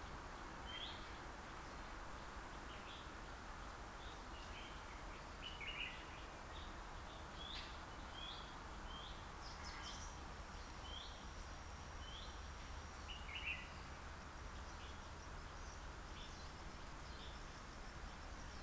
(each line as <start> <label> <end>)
0.1 #Cricket 18.6
11.9 different kind of bird songs 18.6